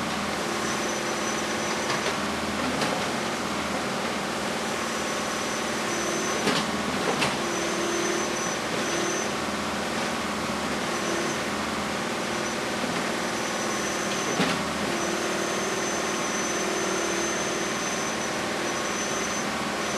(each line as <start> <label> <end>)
0.0 Construction saw 19.9